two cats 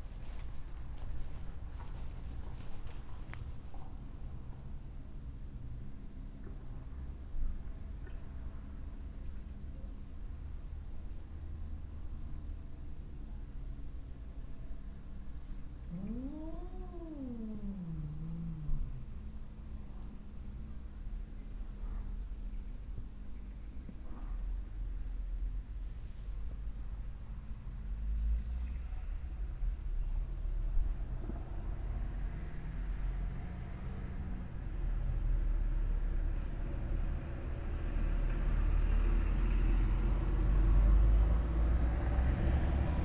15.2s 22.4s

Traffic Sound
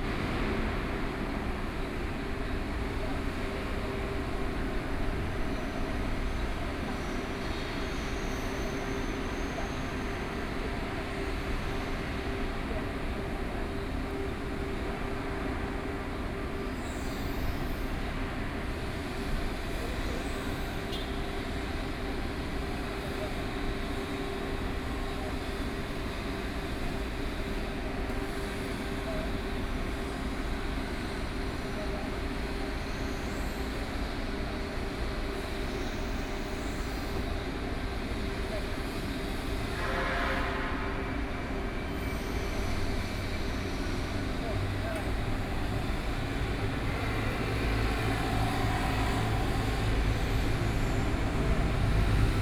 42.6s 52.4s

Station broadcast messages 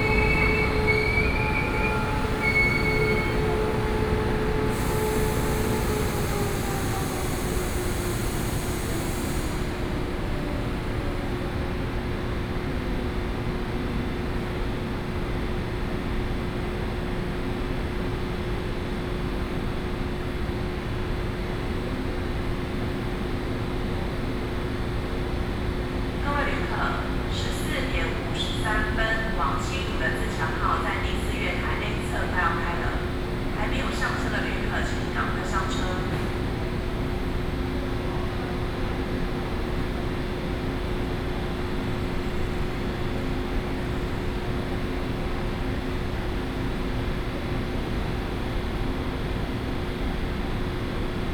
0.0s 6.0s, 26.2s 36.7s

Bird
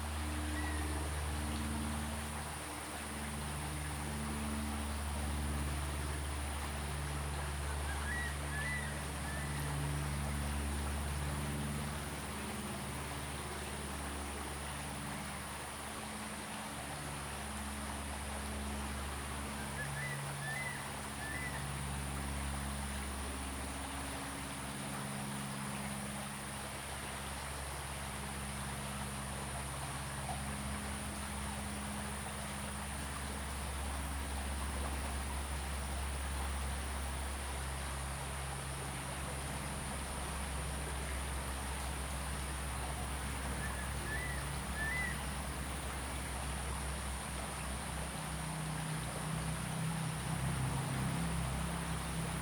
43.6s 45.4s

